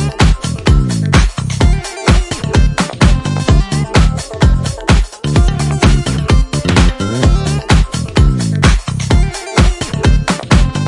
retro style composition with a modern beat 0:00.0 - 0:10.8

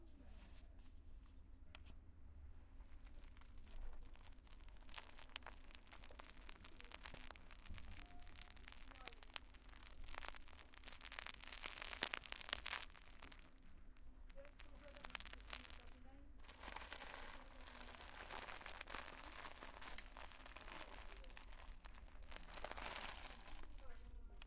squishing lamaze crinkly toys 0:02.8 - 0:24.4

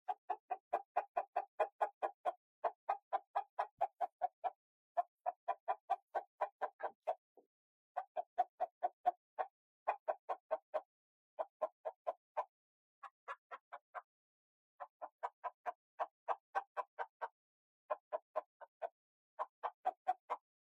rooster 0:00.0 - 0:07.4
rooster 0:08.0 - 0:14.1
rooster 0:14.8 - 0:20.5

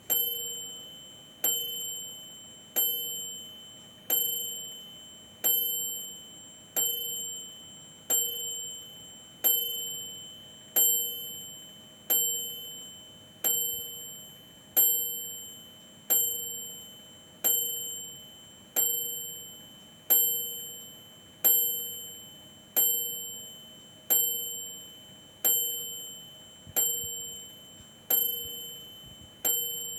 Oven bell dinging as the timer runs out 0:00.0 - 0:29.9

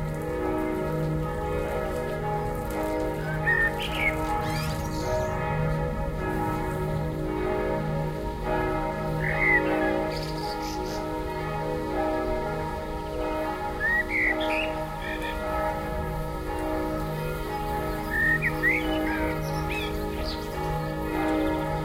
churchbells 0:00.0 - 0:21.8
blackbird 0:13.8 - 0:15.4
blackbird 0:18.0 - 0:20.6

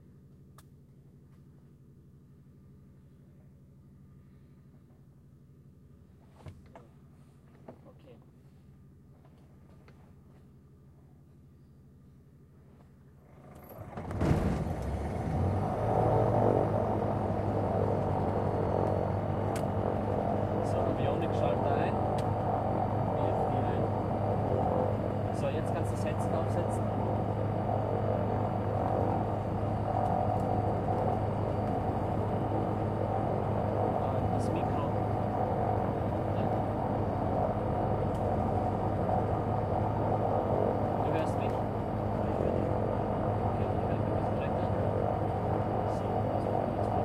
starting engine 0:13.2 - 0:22.6

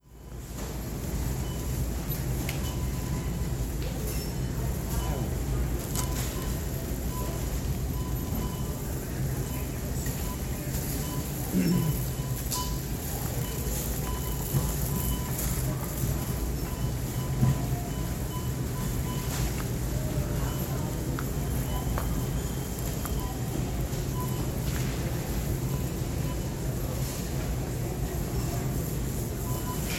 groceries being checked out 0:00.1 - 0:29.9
shopping carts 0:00.2 - 0:29.9
people 0:00.6 - 0:29.9
beeps 0:05.0 - 0:27.2

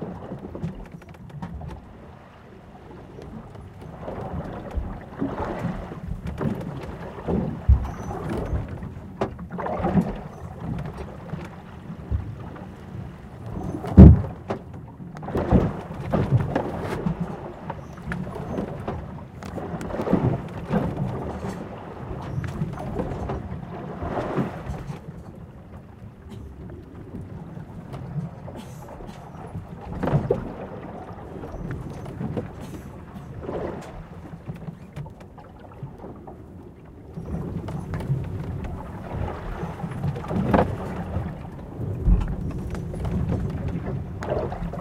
sailing ship 0:00.0 - 0:44.8
waves 0:00.0 - 0:44.8

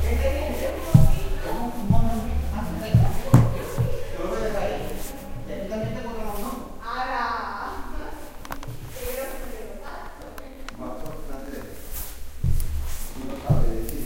footsteps on wooden floor 0:00.0 - 0:06.1
footsteps on wooden floor 0:10.0 - 0:14.0

